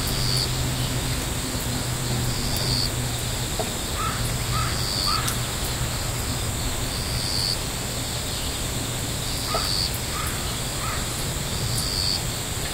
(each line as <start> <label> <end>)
0.0 raindrops falling on the house, the roof, the land 8.0
0.0 cicadas 12.7
0.0 crickets 12.7
4.0 crow sounds 5.5
9.5 crow sounds 11.2